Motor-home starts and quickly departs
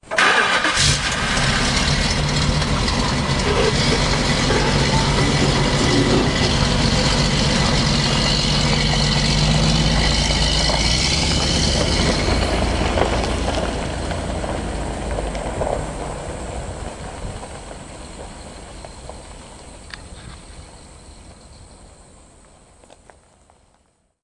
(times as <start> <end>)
0.0 18.7